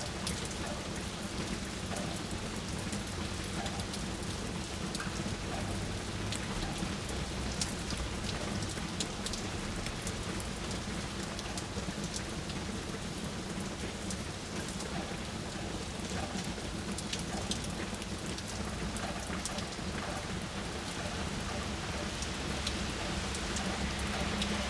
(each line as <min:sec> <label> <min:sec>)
0:00.0 rain and drops on the balcony 0:24.6